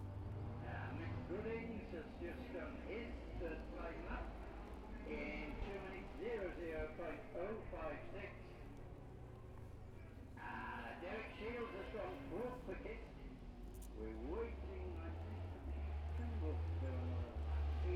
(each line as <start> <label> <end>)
0.6 commentary 17.9
14.0 motorcycle road racing 17.9